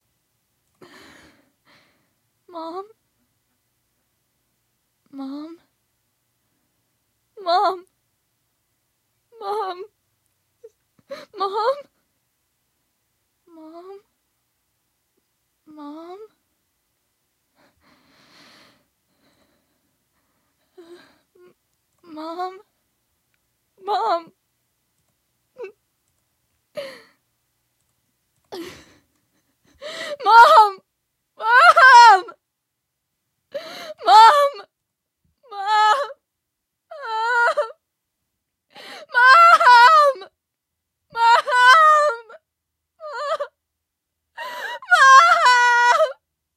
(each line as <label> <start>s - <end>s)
crying mom 2.5s - 3.0s
crying mom 5.1s - 5.7s
whisper 5.1s - 5.7s
crying mom 7.4s - 7.9s
crying mom 9.3s - 9.9s
crying mom 11.0s - 12.0s
crying mom 13.5s - 14.1s
crying mom 15.7s - 16.4s
crying mom 20.7s - 22.7s
crying mom 23.8s - 24.4s
crying mom 25.6s - 25.8s
crying mom 26.8s - 27.2s
crying mom 28.5s - 32.4s
screaming 31.4s - 32.4s
crying mom 33.5s - 34.7s
crying mom 35.4s - 36.2s
crying mom 36.9s - 37.8s
crying mom 38.7s - 40.4s
screaming 39.1s - 40.3s
crying mom 41.1s - 43.6s
screaming 41.2s - 42.4s
crying mom 44.4s - 46.2s
screaming 44.6s - 46.2s